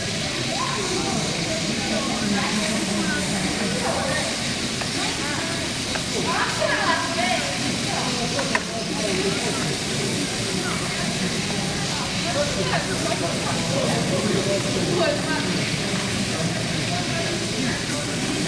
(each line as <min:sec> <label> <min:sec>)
0:00.0 jet of water 0:18.4
0:00.0 voices of inhabitants and workers 0:18.4